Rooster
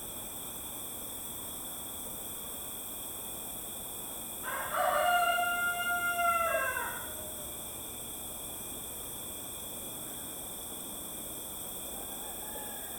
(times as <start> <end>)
4.4 7.4, 12.0 12.9